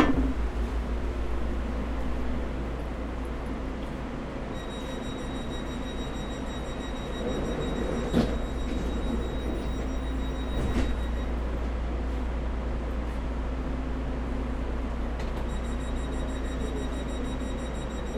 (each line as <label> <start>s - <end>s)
S-Bahn to the airport 0.0s - 18.1s